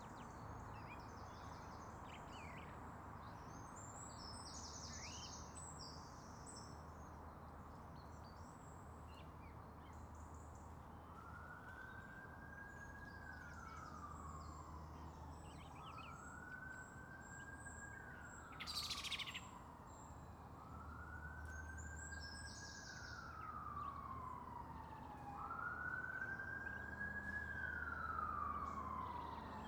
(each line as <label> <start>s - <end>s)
bird song 0.0s - 29.6s
passing ambulance 11.1s - 29.6s